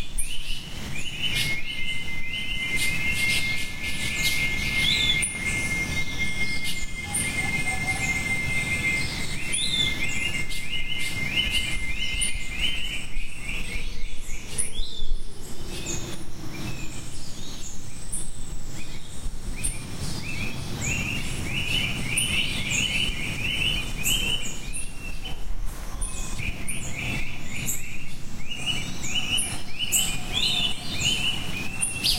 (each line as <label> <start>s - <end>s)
birds 0.0s - 32.1s
insects 0.0s - 32.1s
monkeys 6.6s - 17.4s
monkeys 20.8s - 32.1s